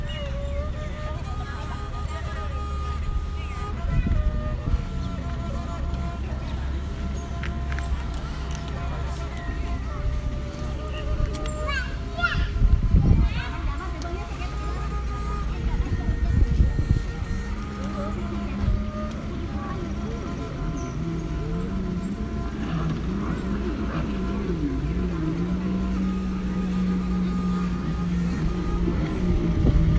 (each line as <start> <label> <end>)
0.0 string instrument 29.9